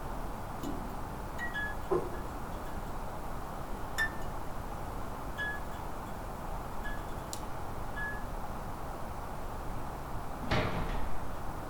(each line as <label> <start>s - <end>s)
halogen lights 0.0s - 8.5s